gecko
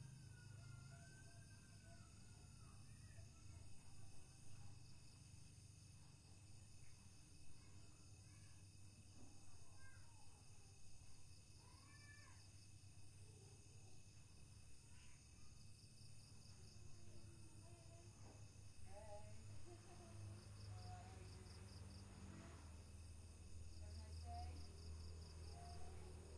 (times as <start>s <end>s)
0.1s 6.0s, 11.3s 22.9s